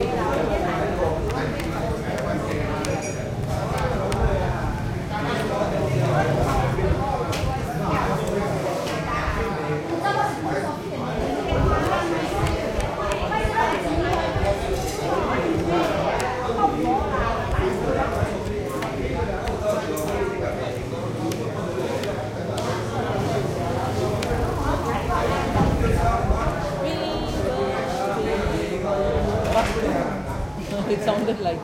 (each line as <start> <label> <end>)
0.0 Crowd 31.6